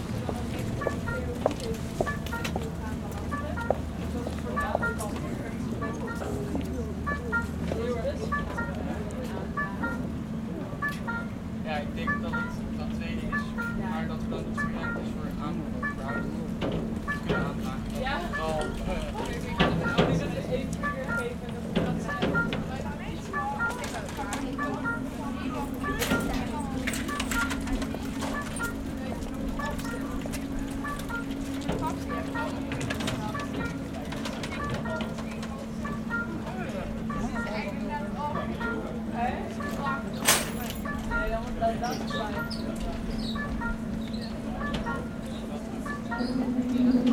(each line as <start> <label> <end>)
0.0 Bridge going up to let a ship pass through 47.1
0.0 Pedestrians can pass 47.1